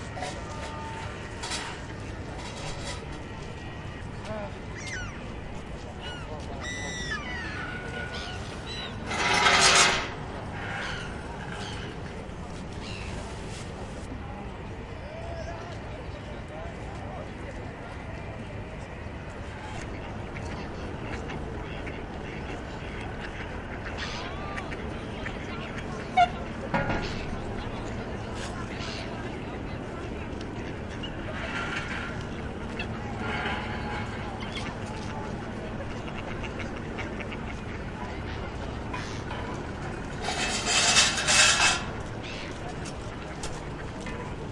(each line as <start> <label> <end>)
0.0 chairs movements on the gravel 4.4
4.7 birds 9.7
8.4 chairs movements on the gravel 14.1
10.4 birds 13.3
30.4 birds 40.9
38.7 chairs movements on the gravel 44.5
42.0 birds 44.0